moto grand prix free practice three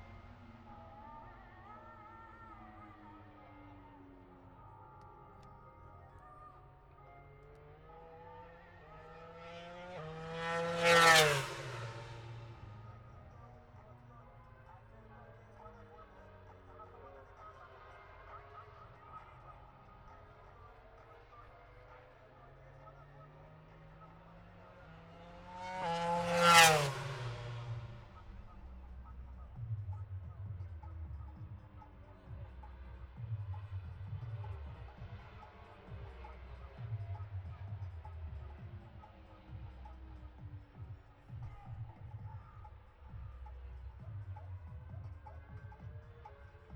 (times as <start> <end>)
7.6 14.5, 21.2 37.2